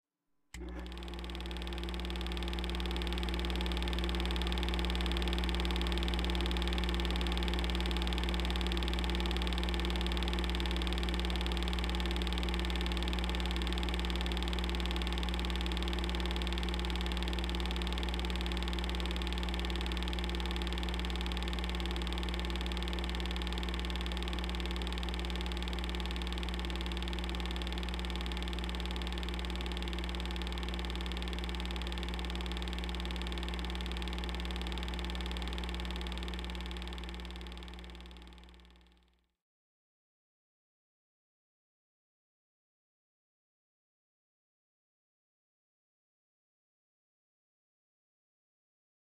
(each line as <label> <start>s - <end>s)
Old 8mm movie projector running 0.6s - 38.9s